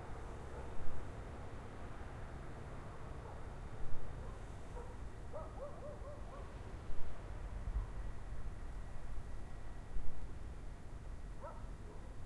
dogs barking in distance 0.5 - 0.8
dogs barking in distance 4.2 - 6.7
dogs barking in distance 11.4 - 12.2

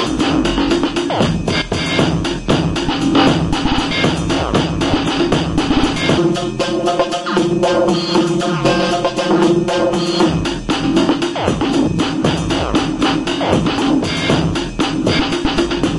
drums 0.0 - 15.9

